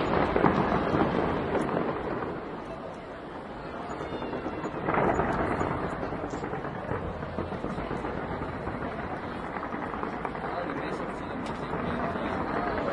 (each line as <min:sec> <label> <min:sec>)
0:00.0 fireworks 0:12.9
0:03.4 neighbors cheering and shouting 0:05.8